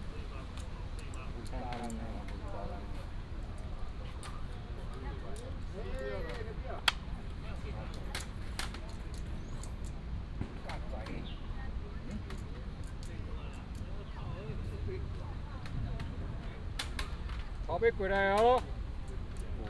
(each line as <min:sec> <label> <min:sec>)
0:00.0 birds sound 0:10.0
0:00.0 old people are playing chess 0:19.6
0:00.0 traffic sound 0:19.6
0:10.8 birds sound 0:14.7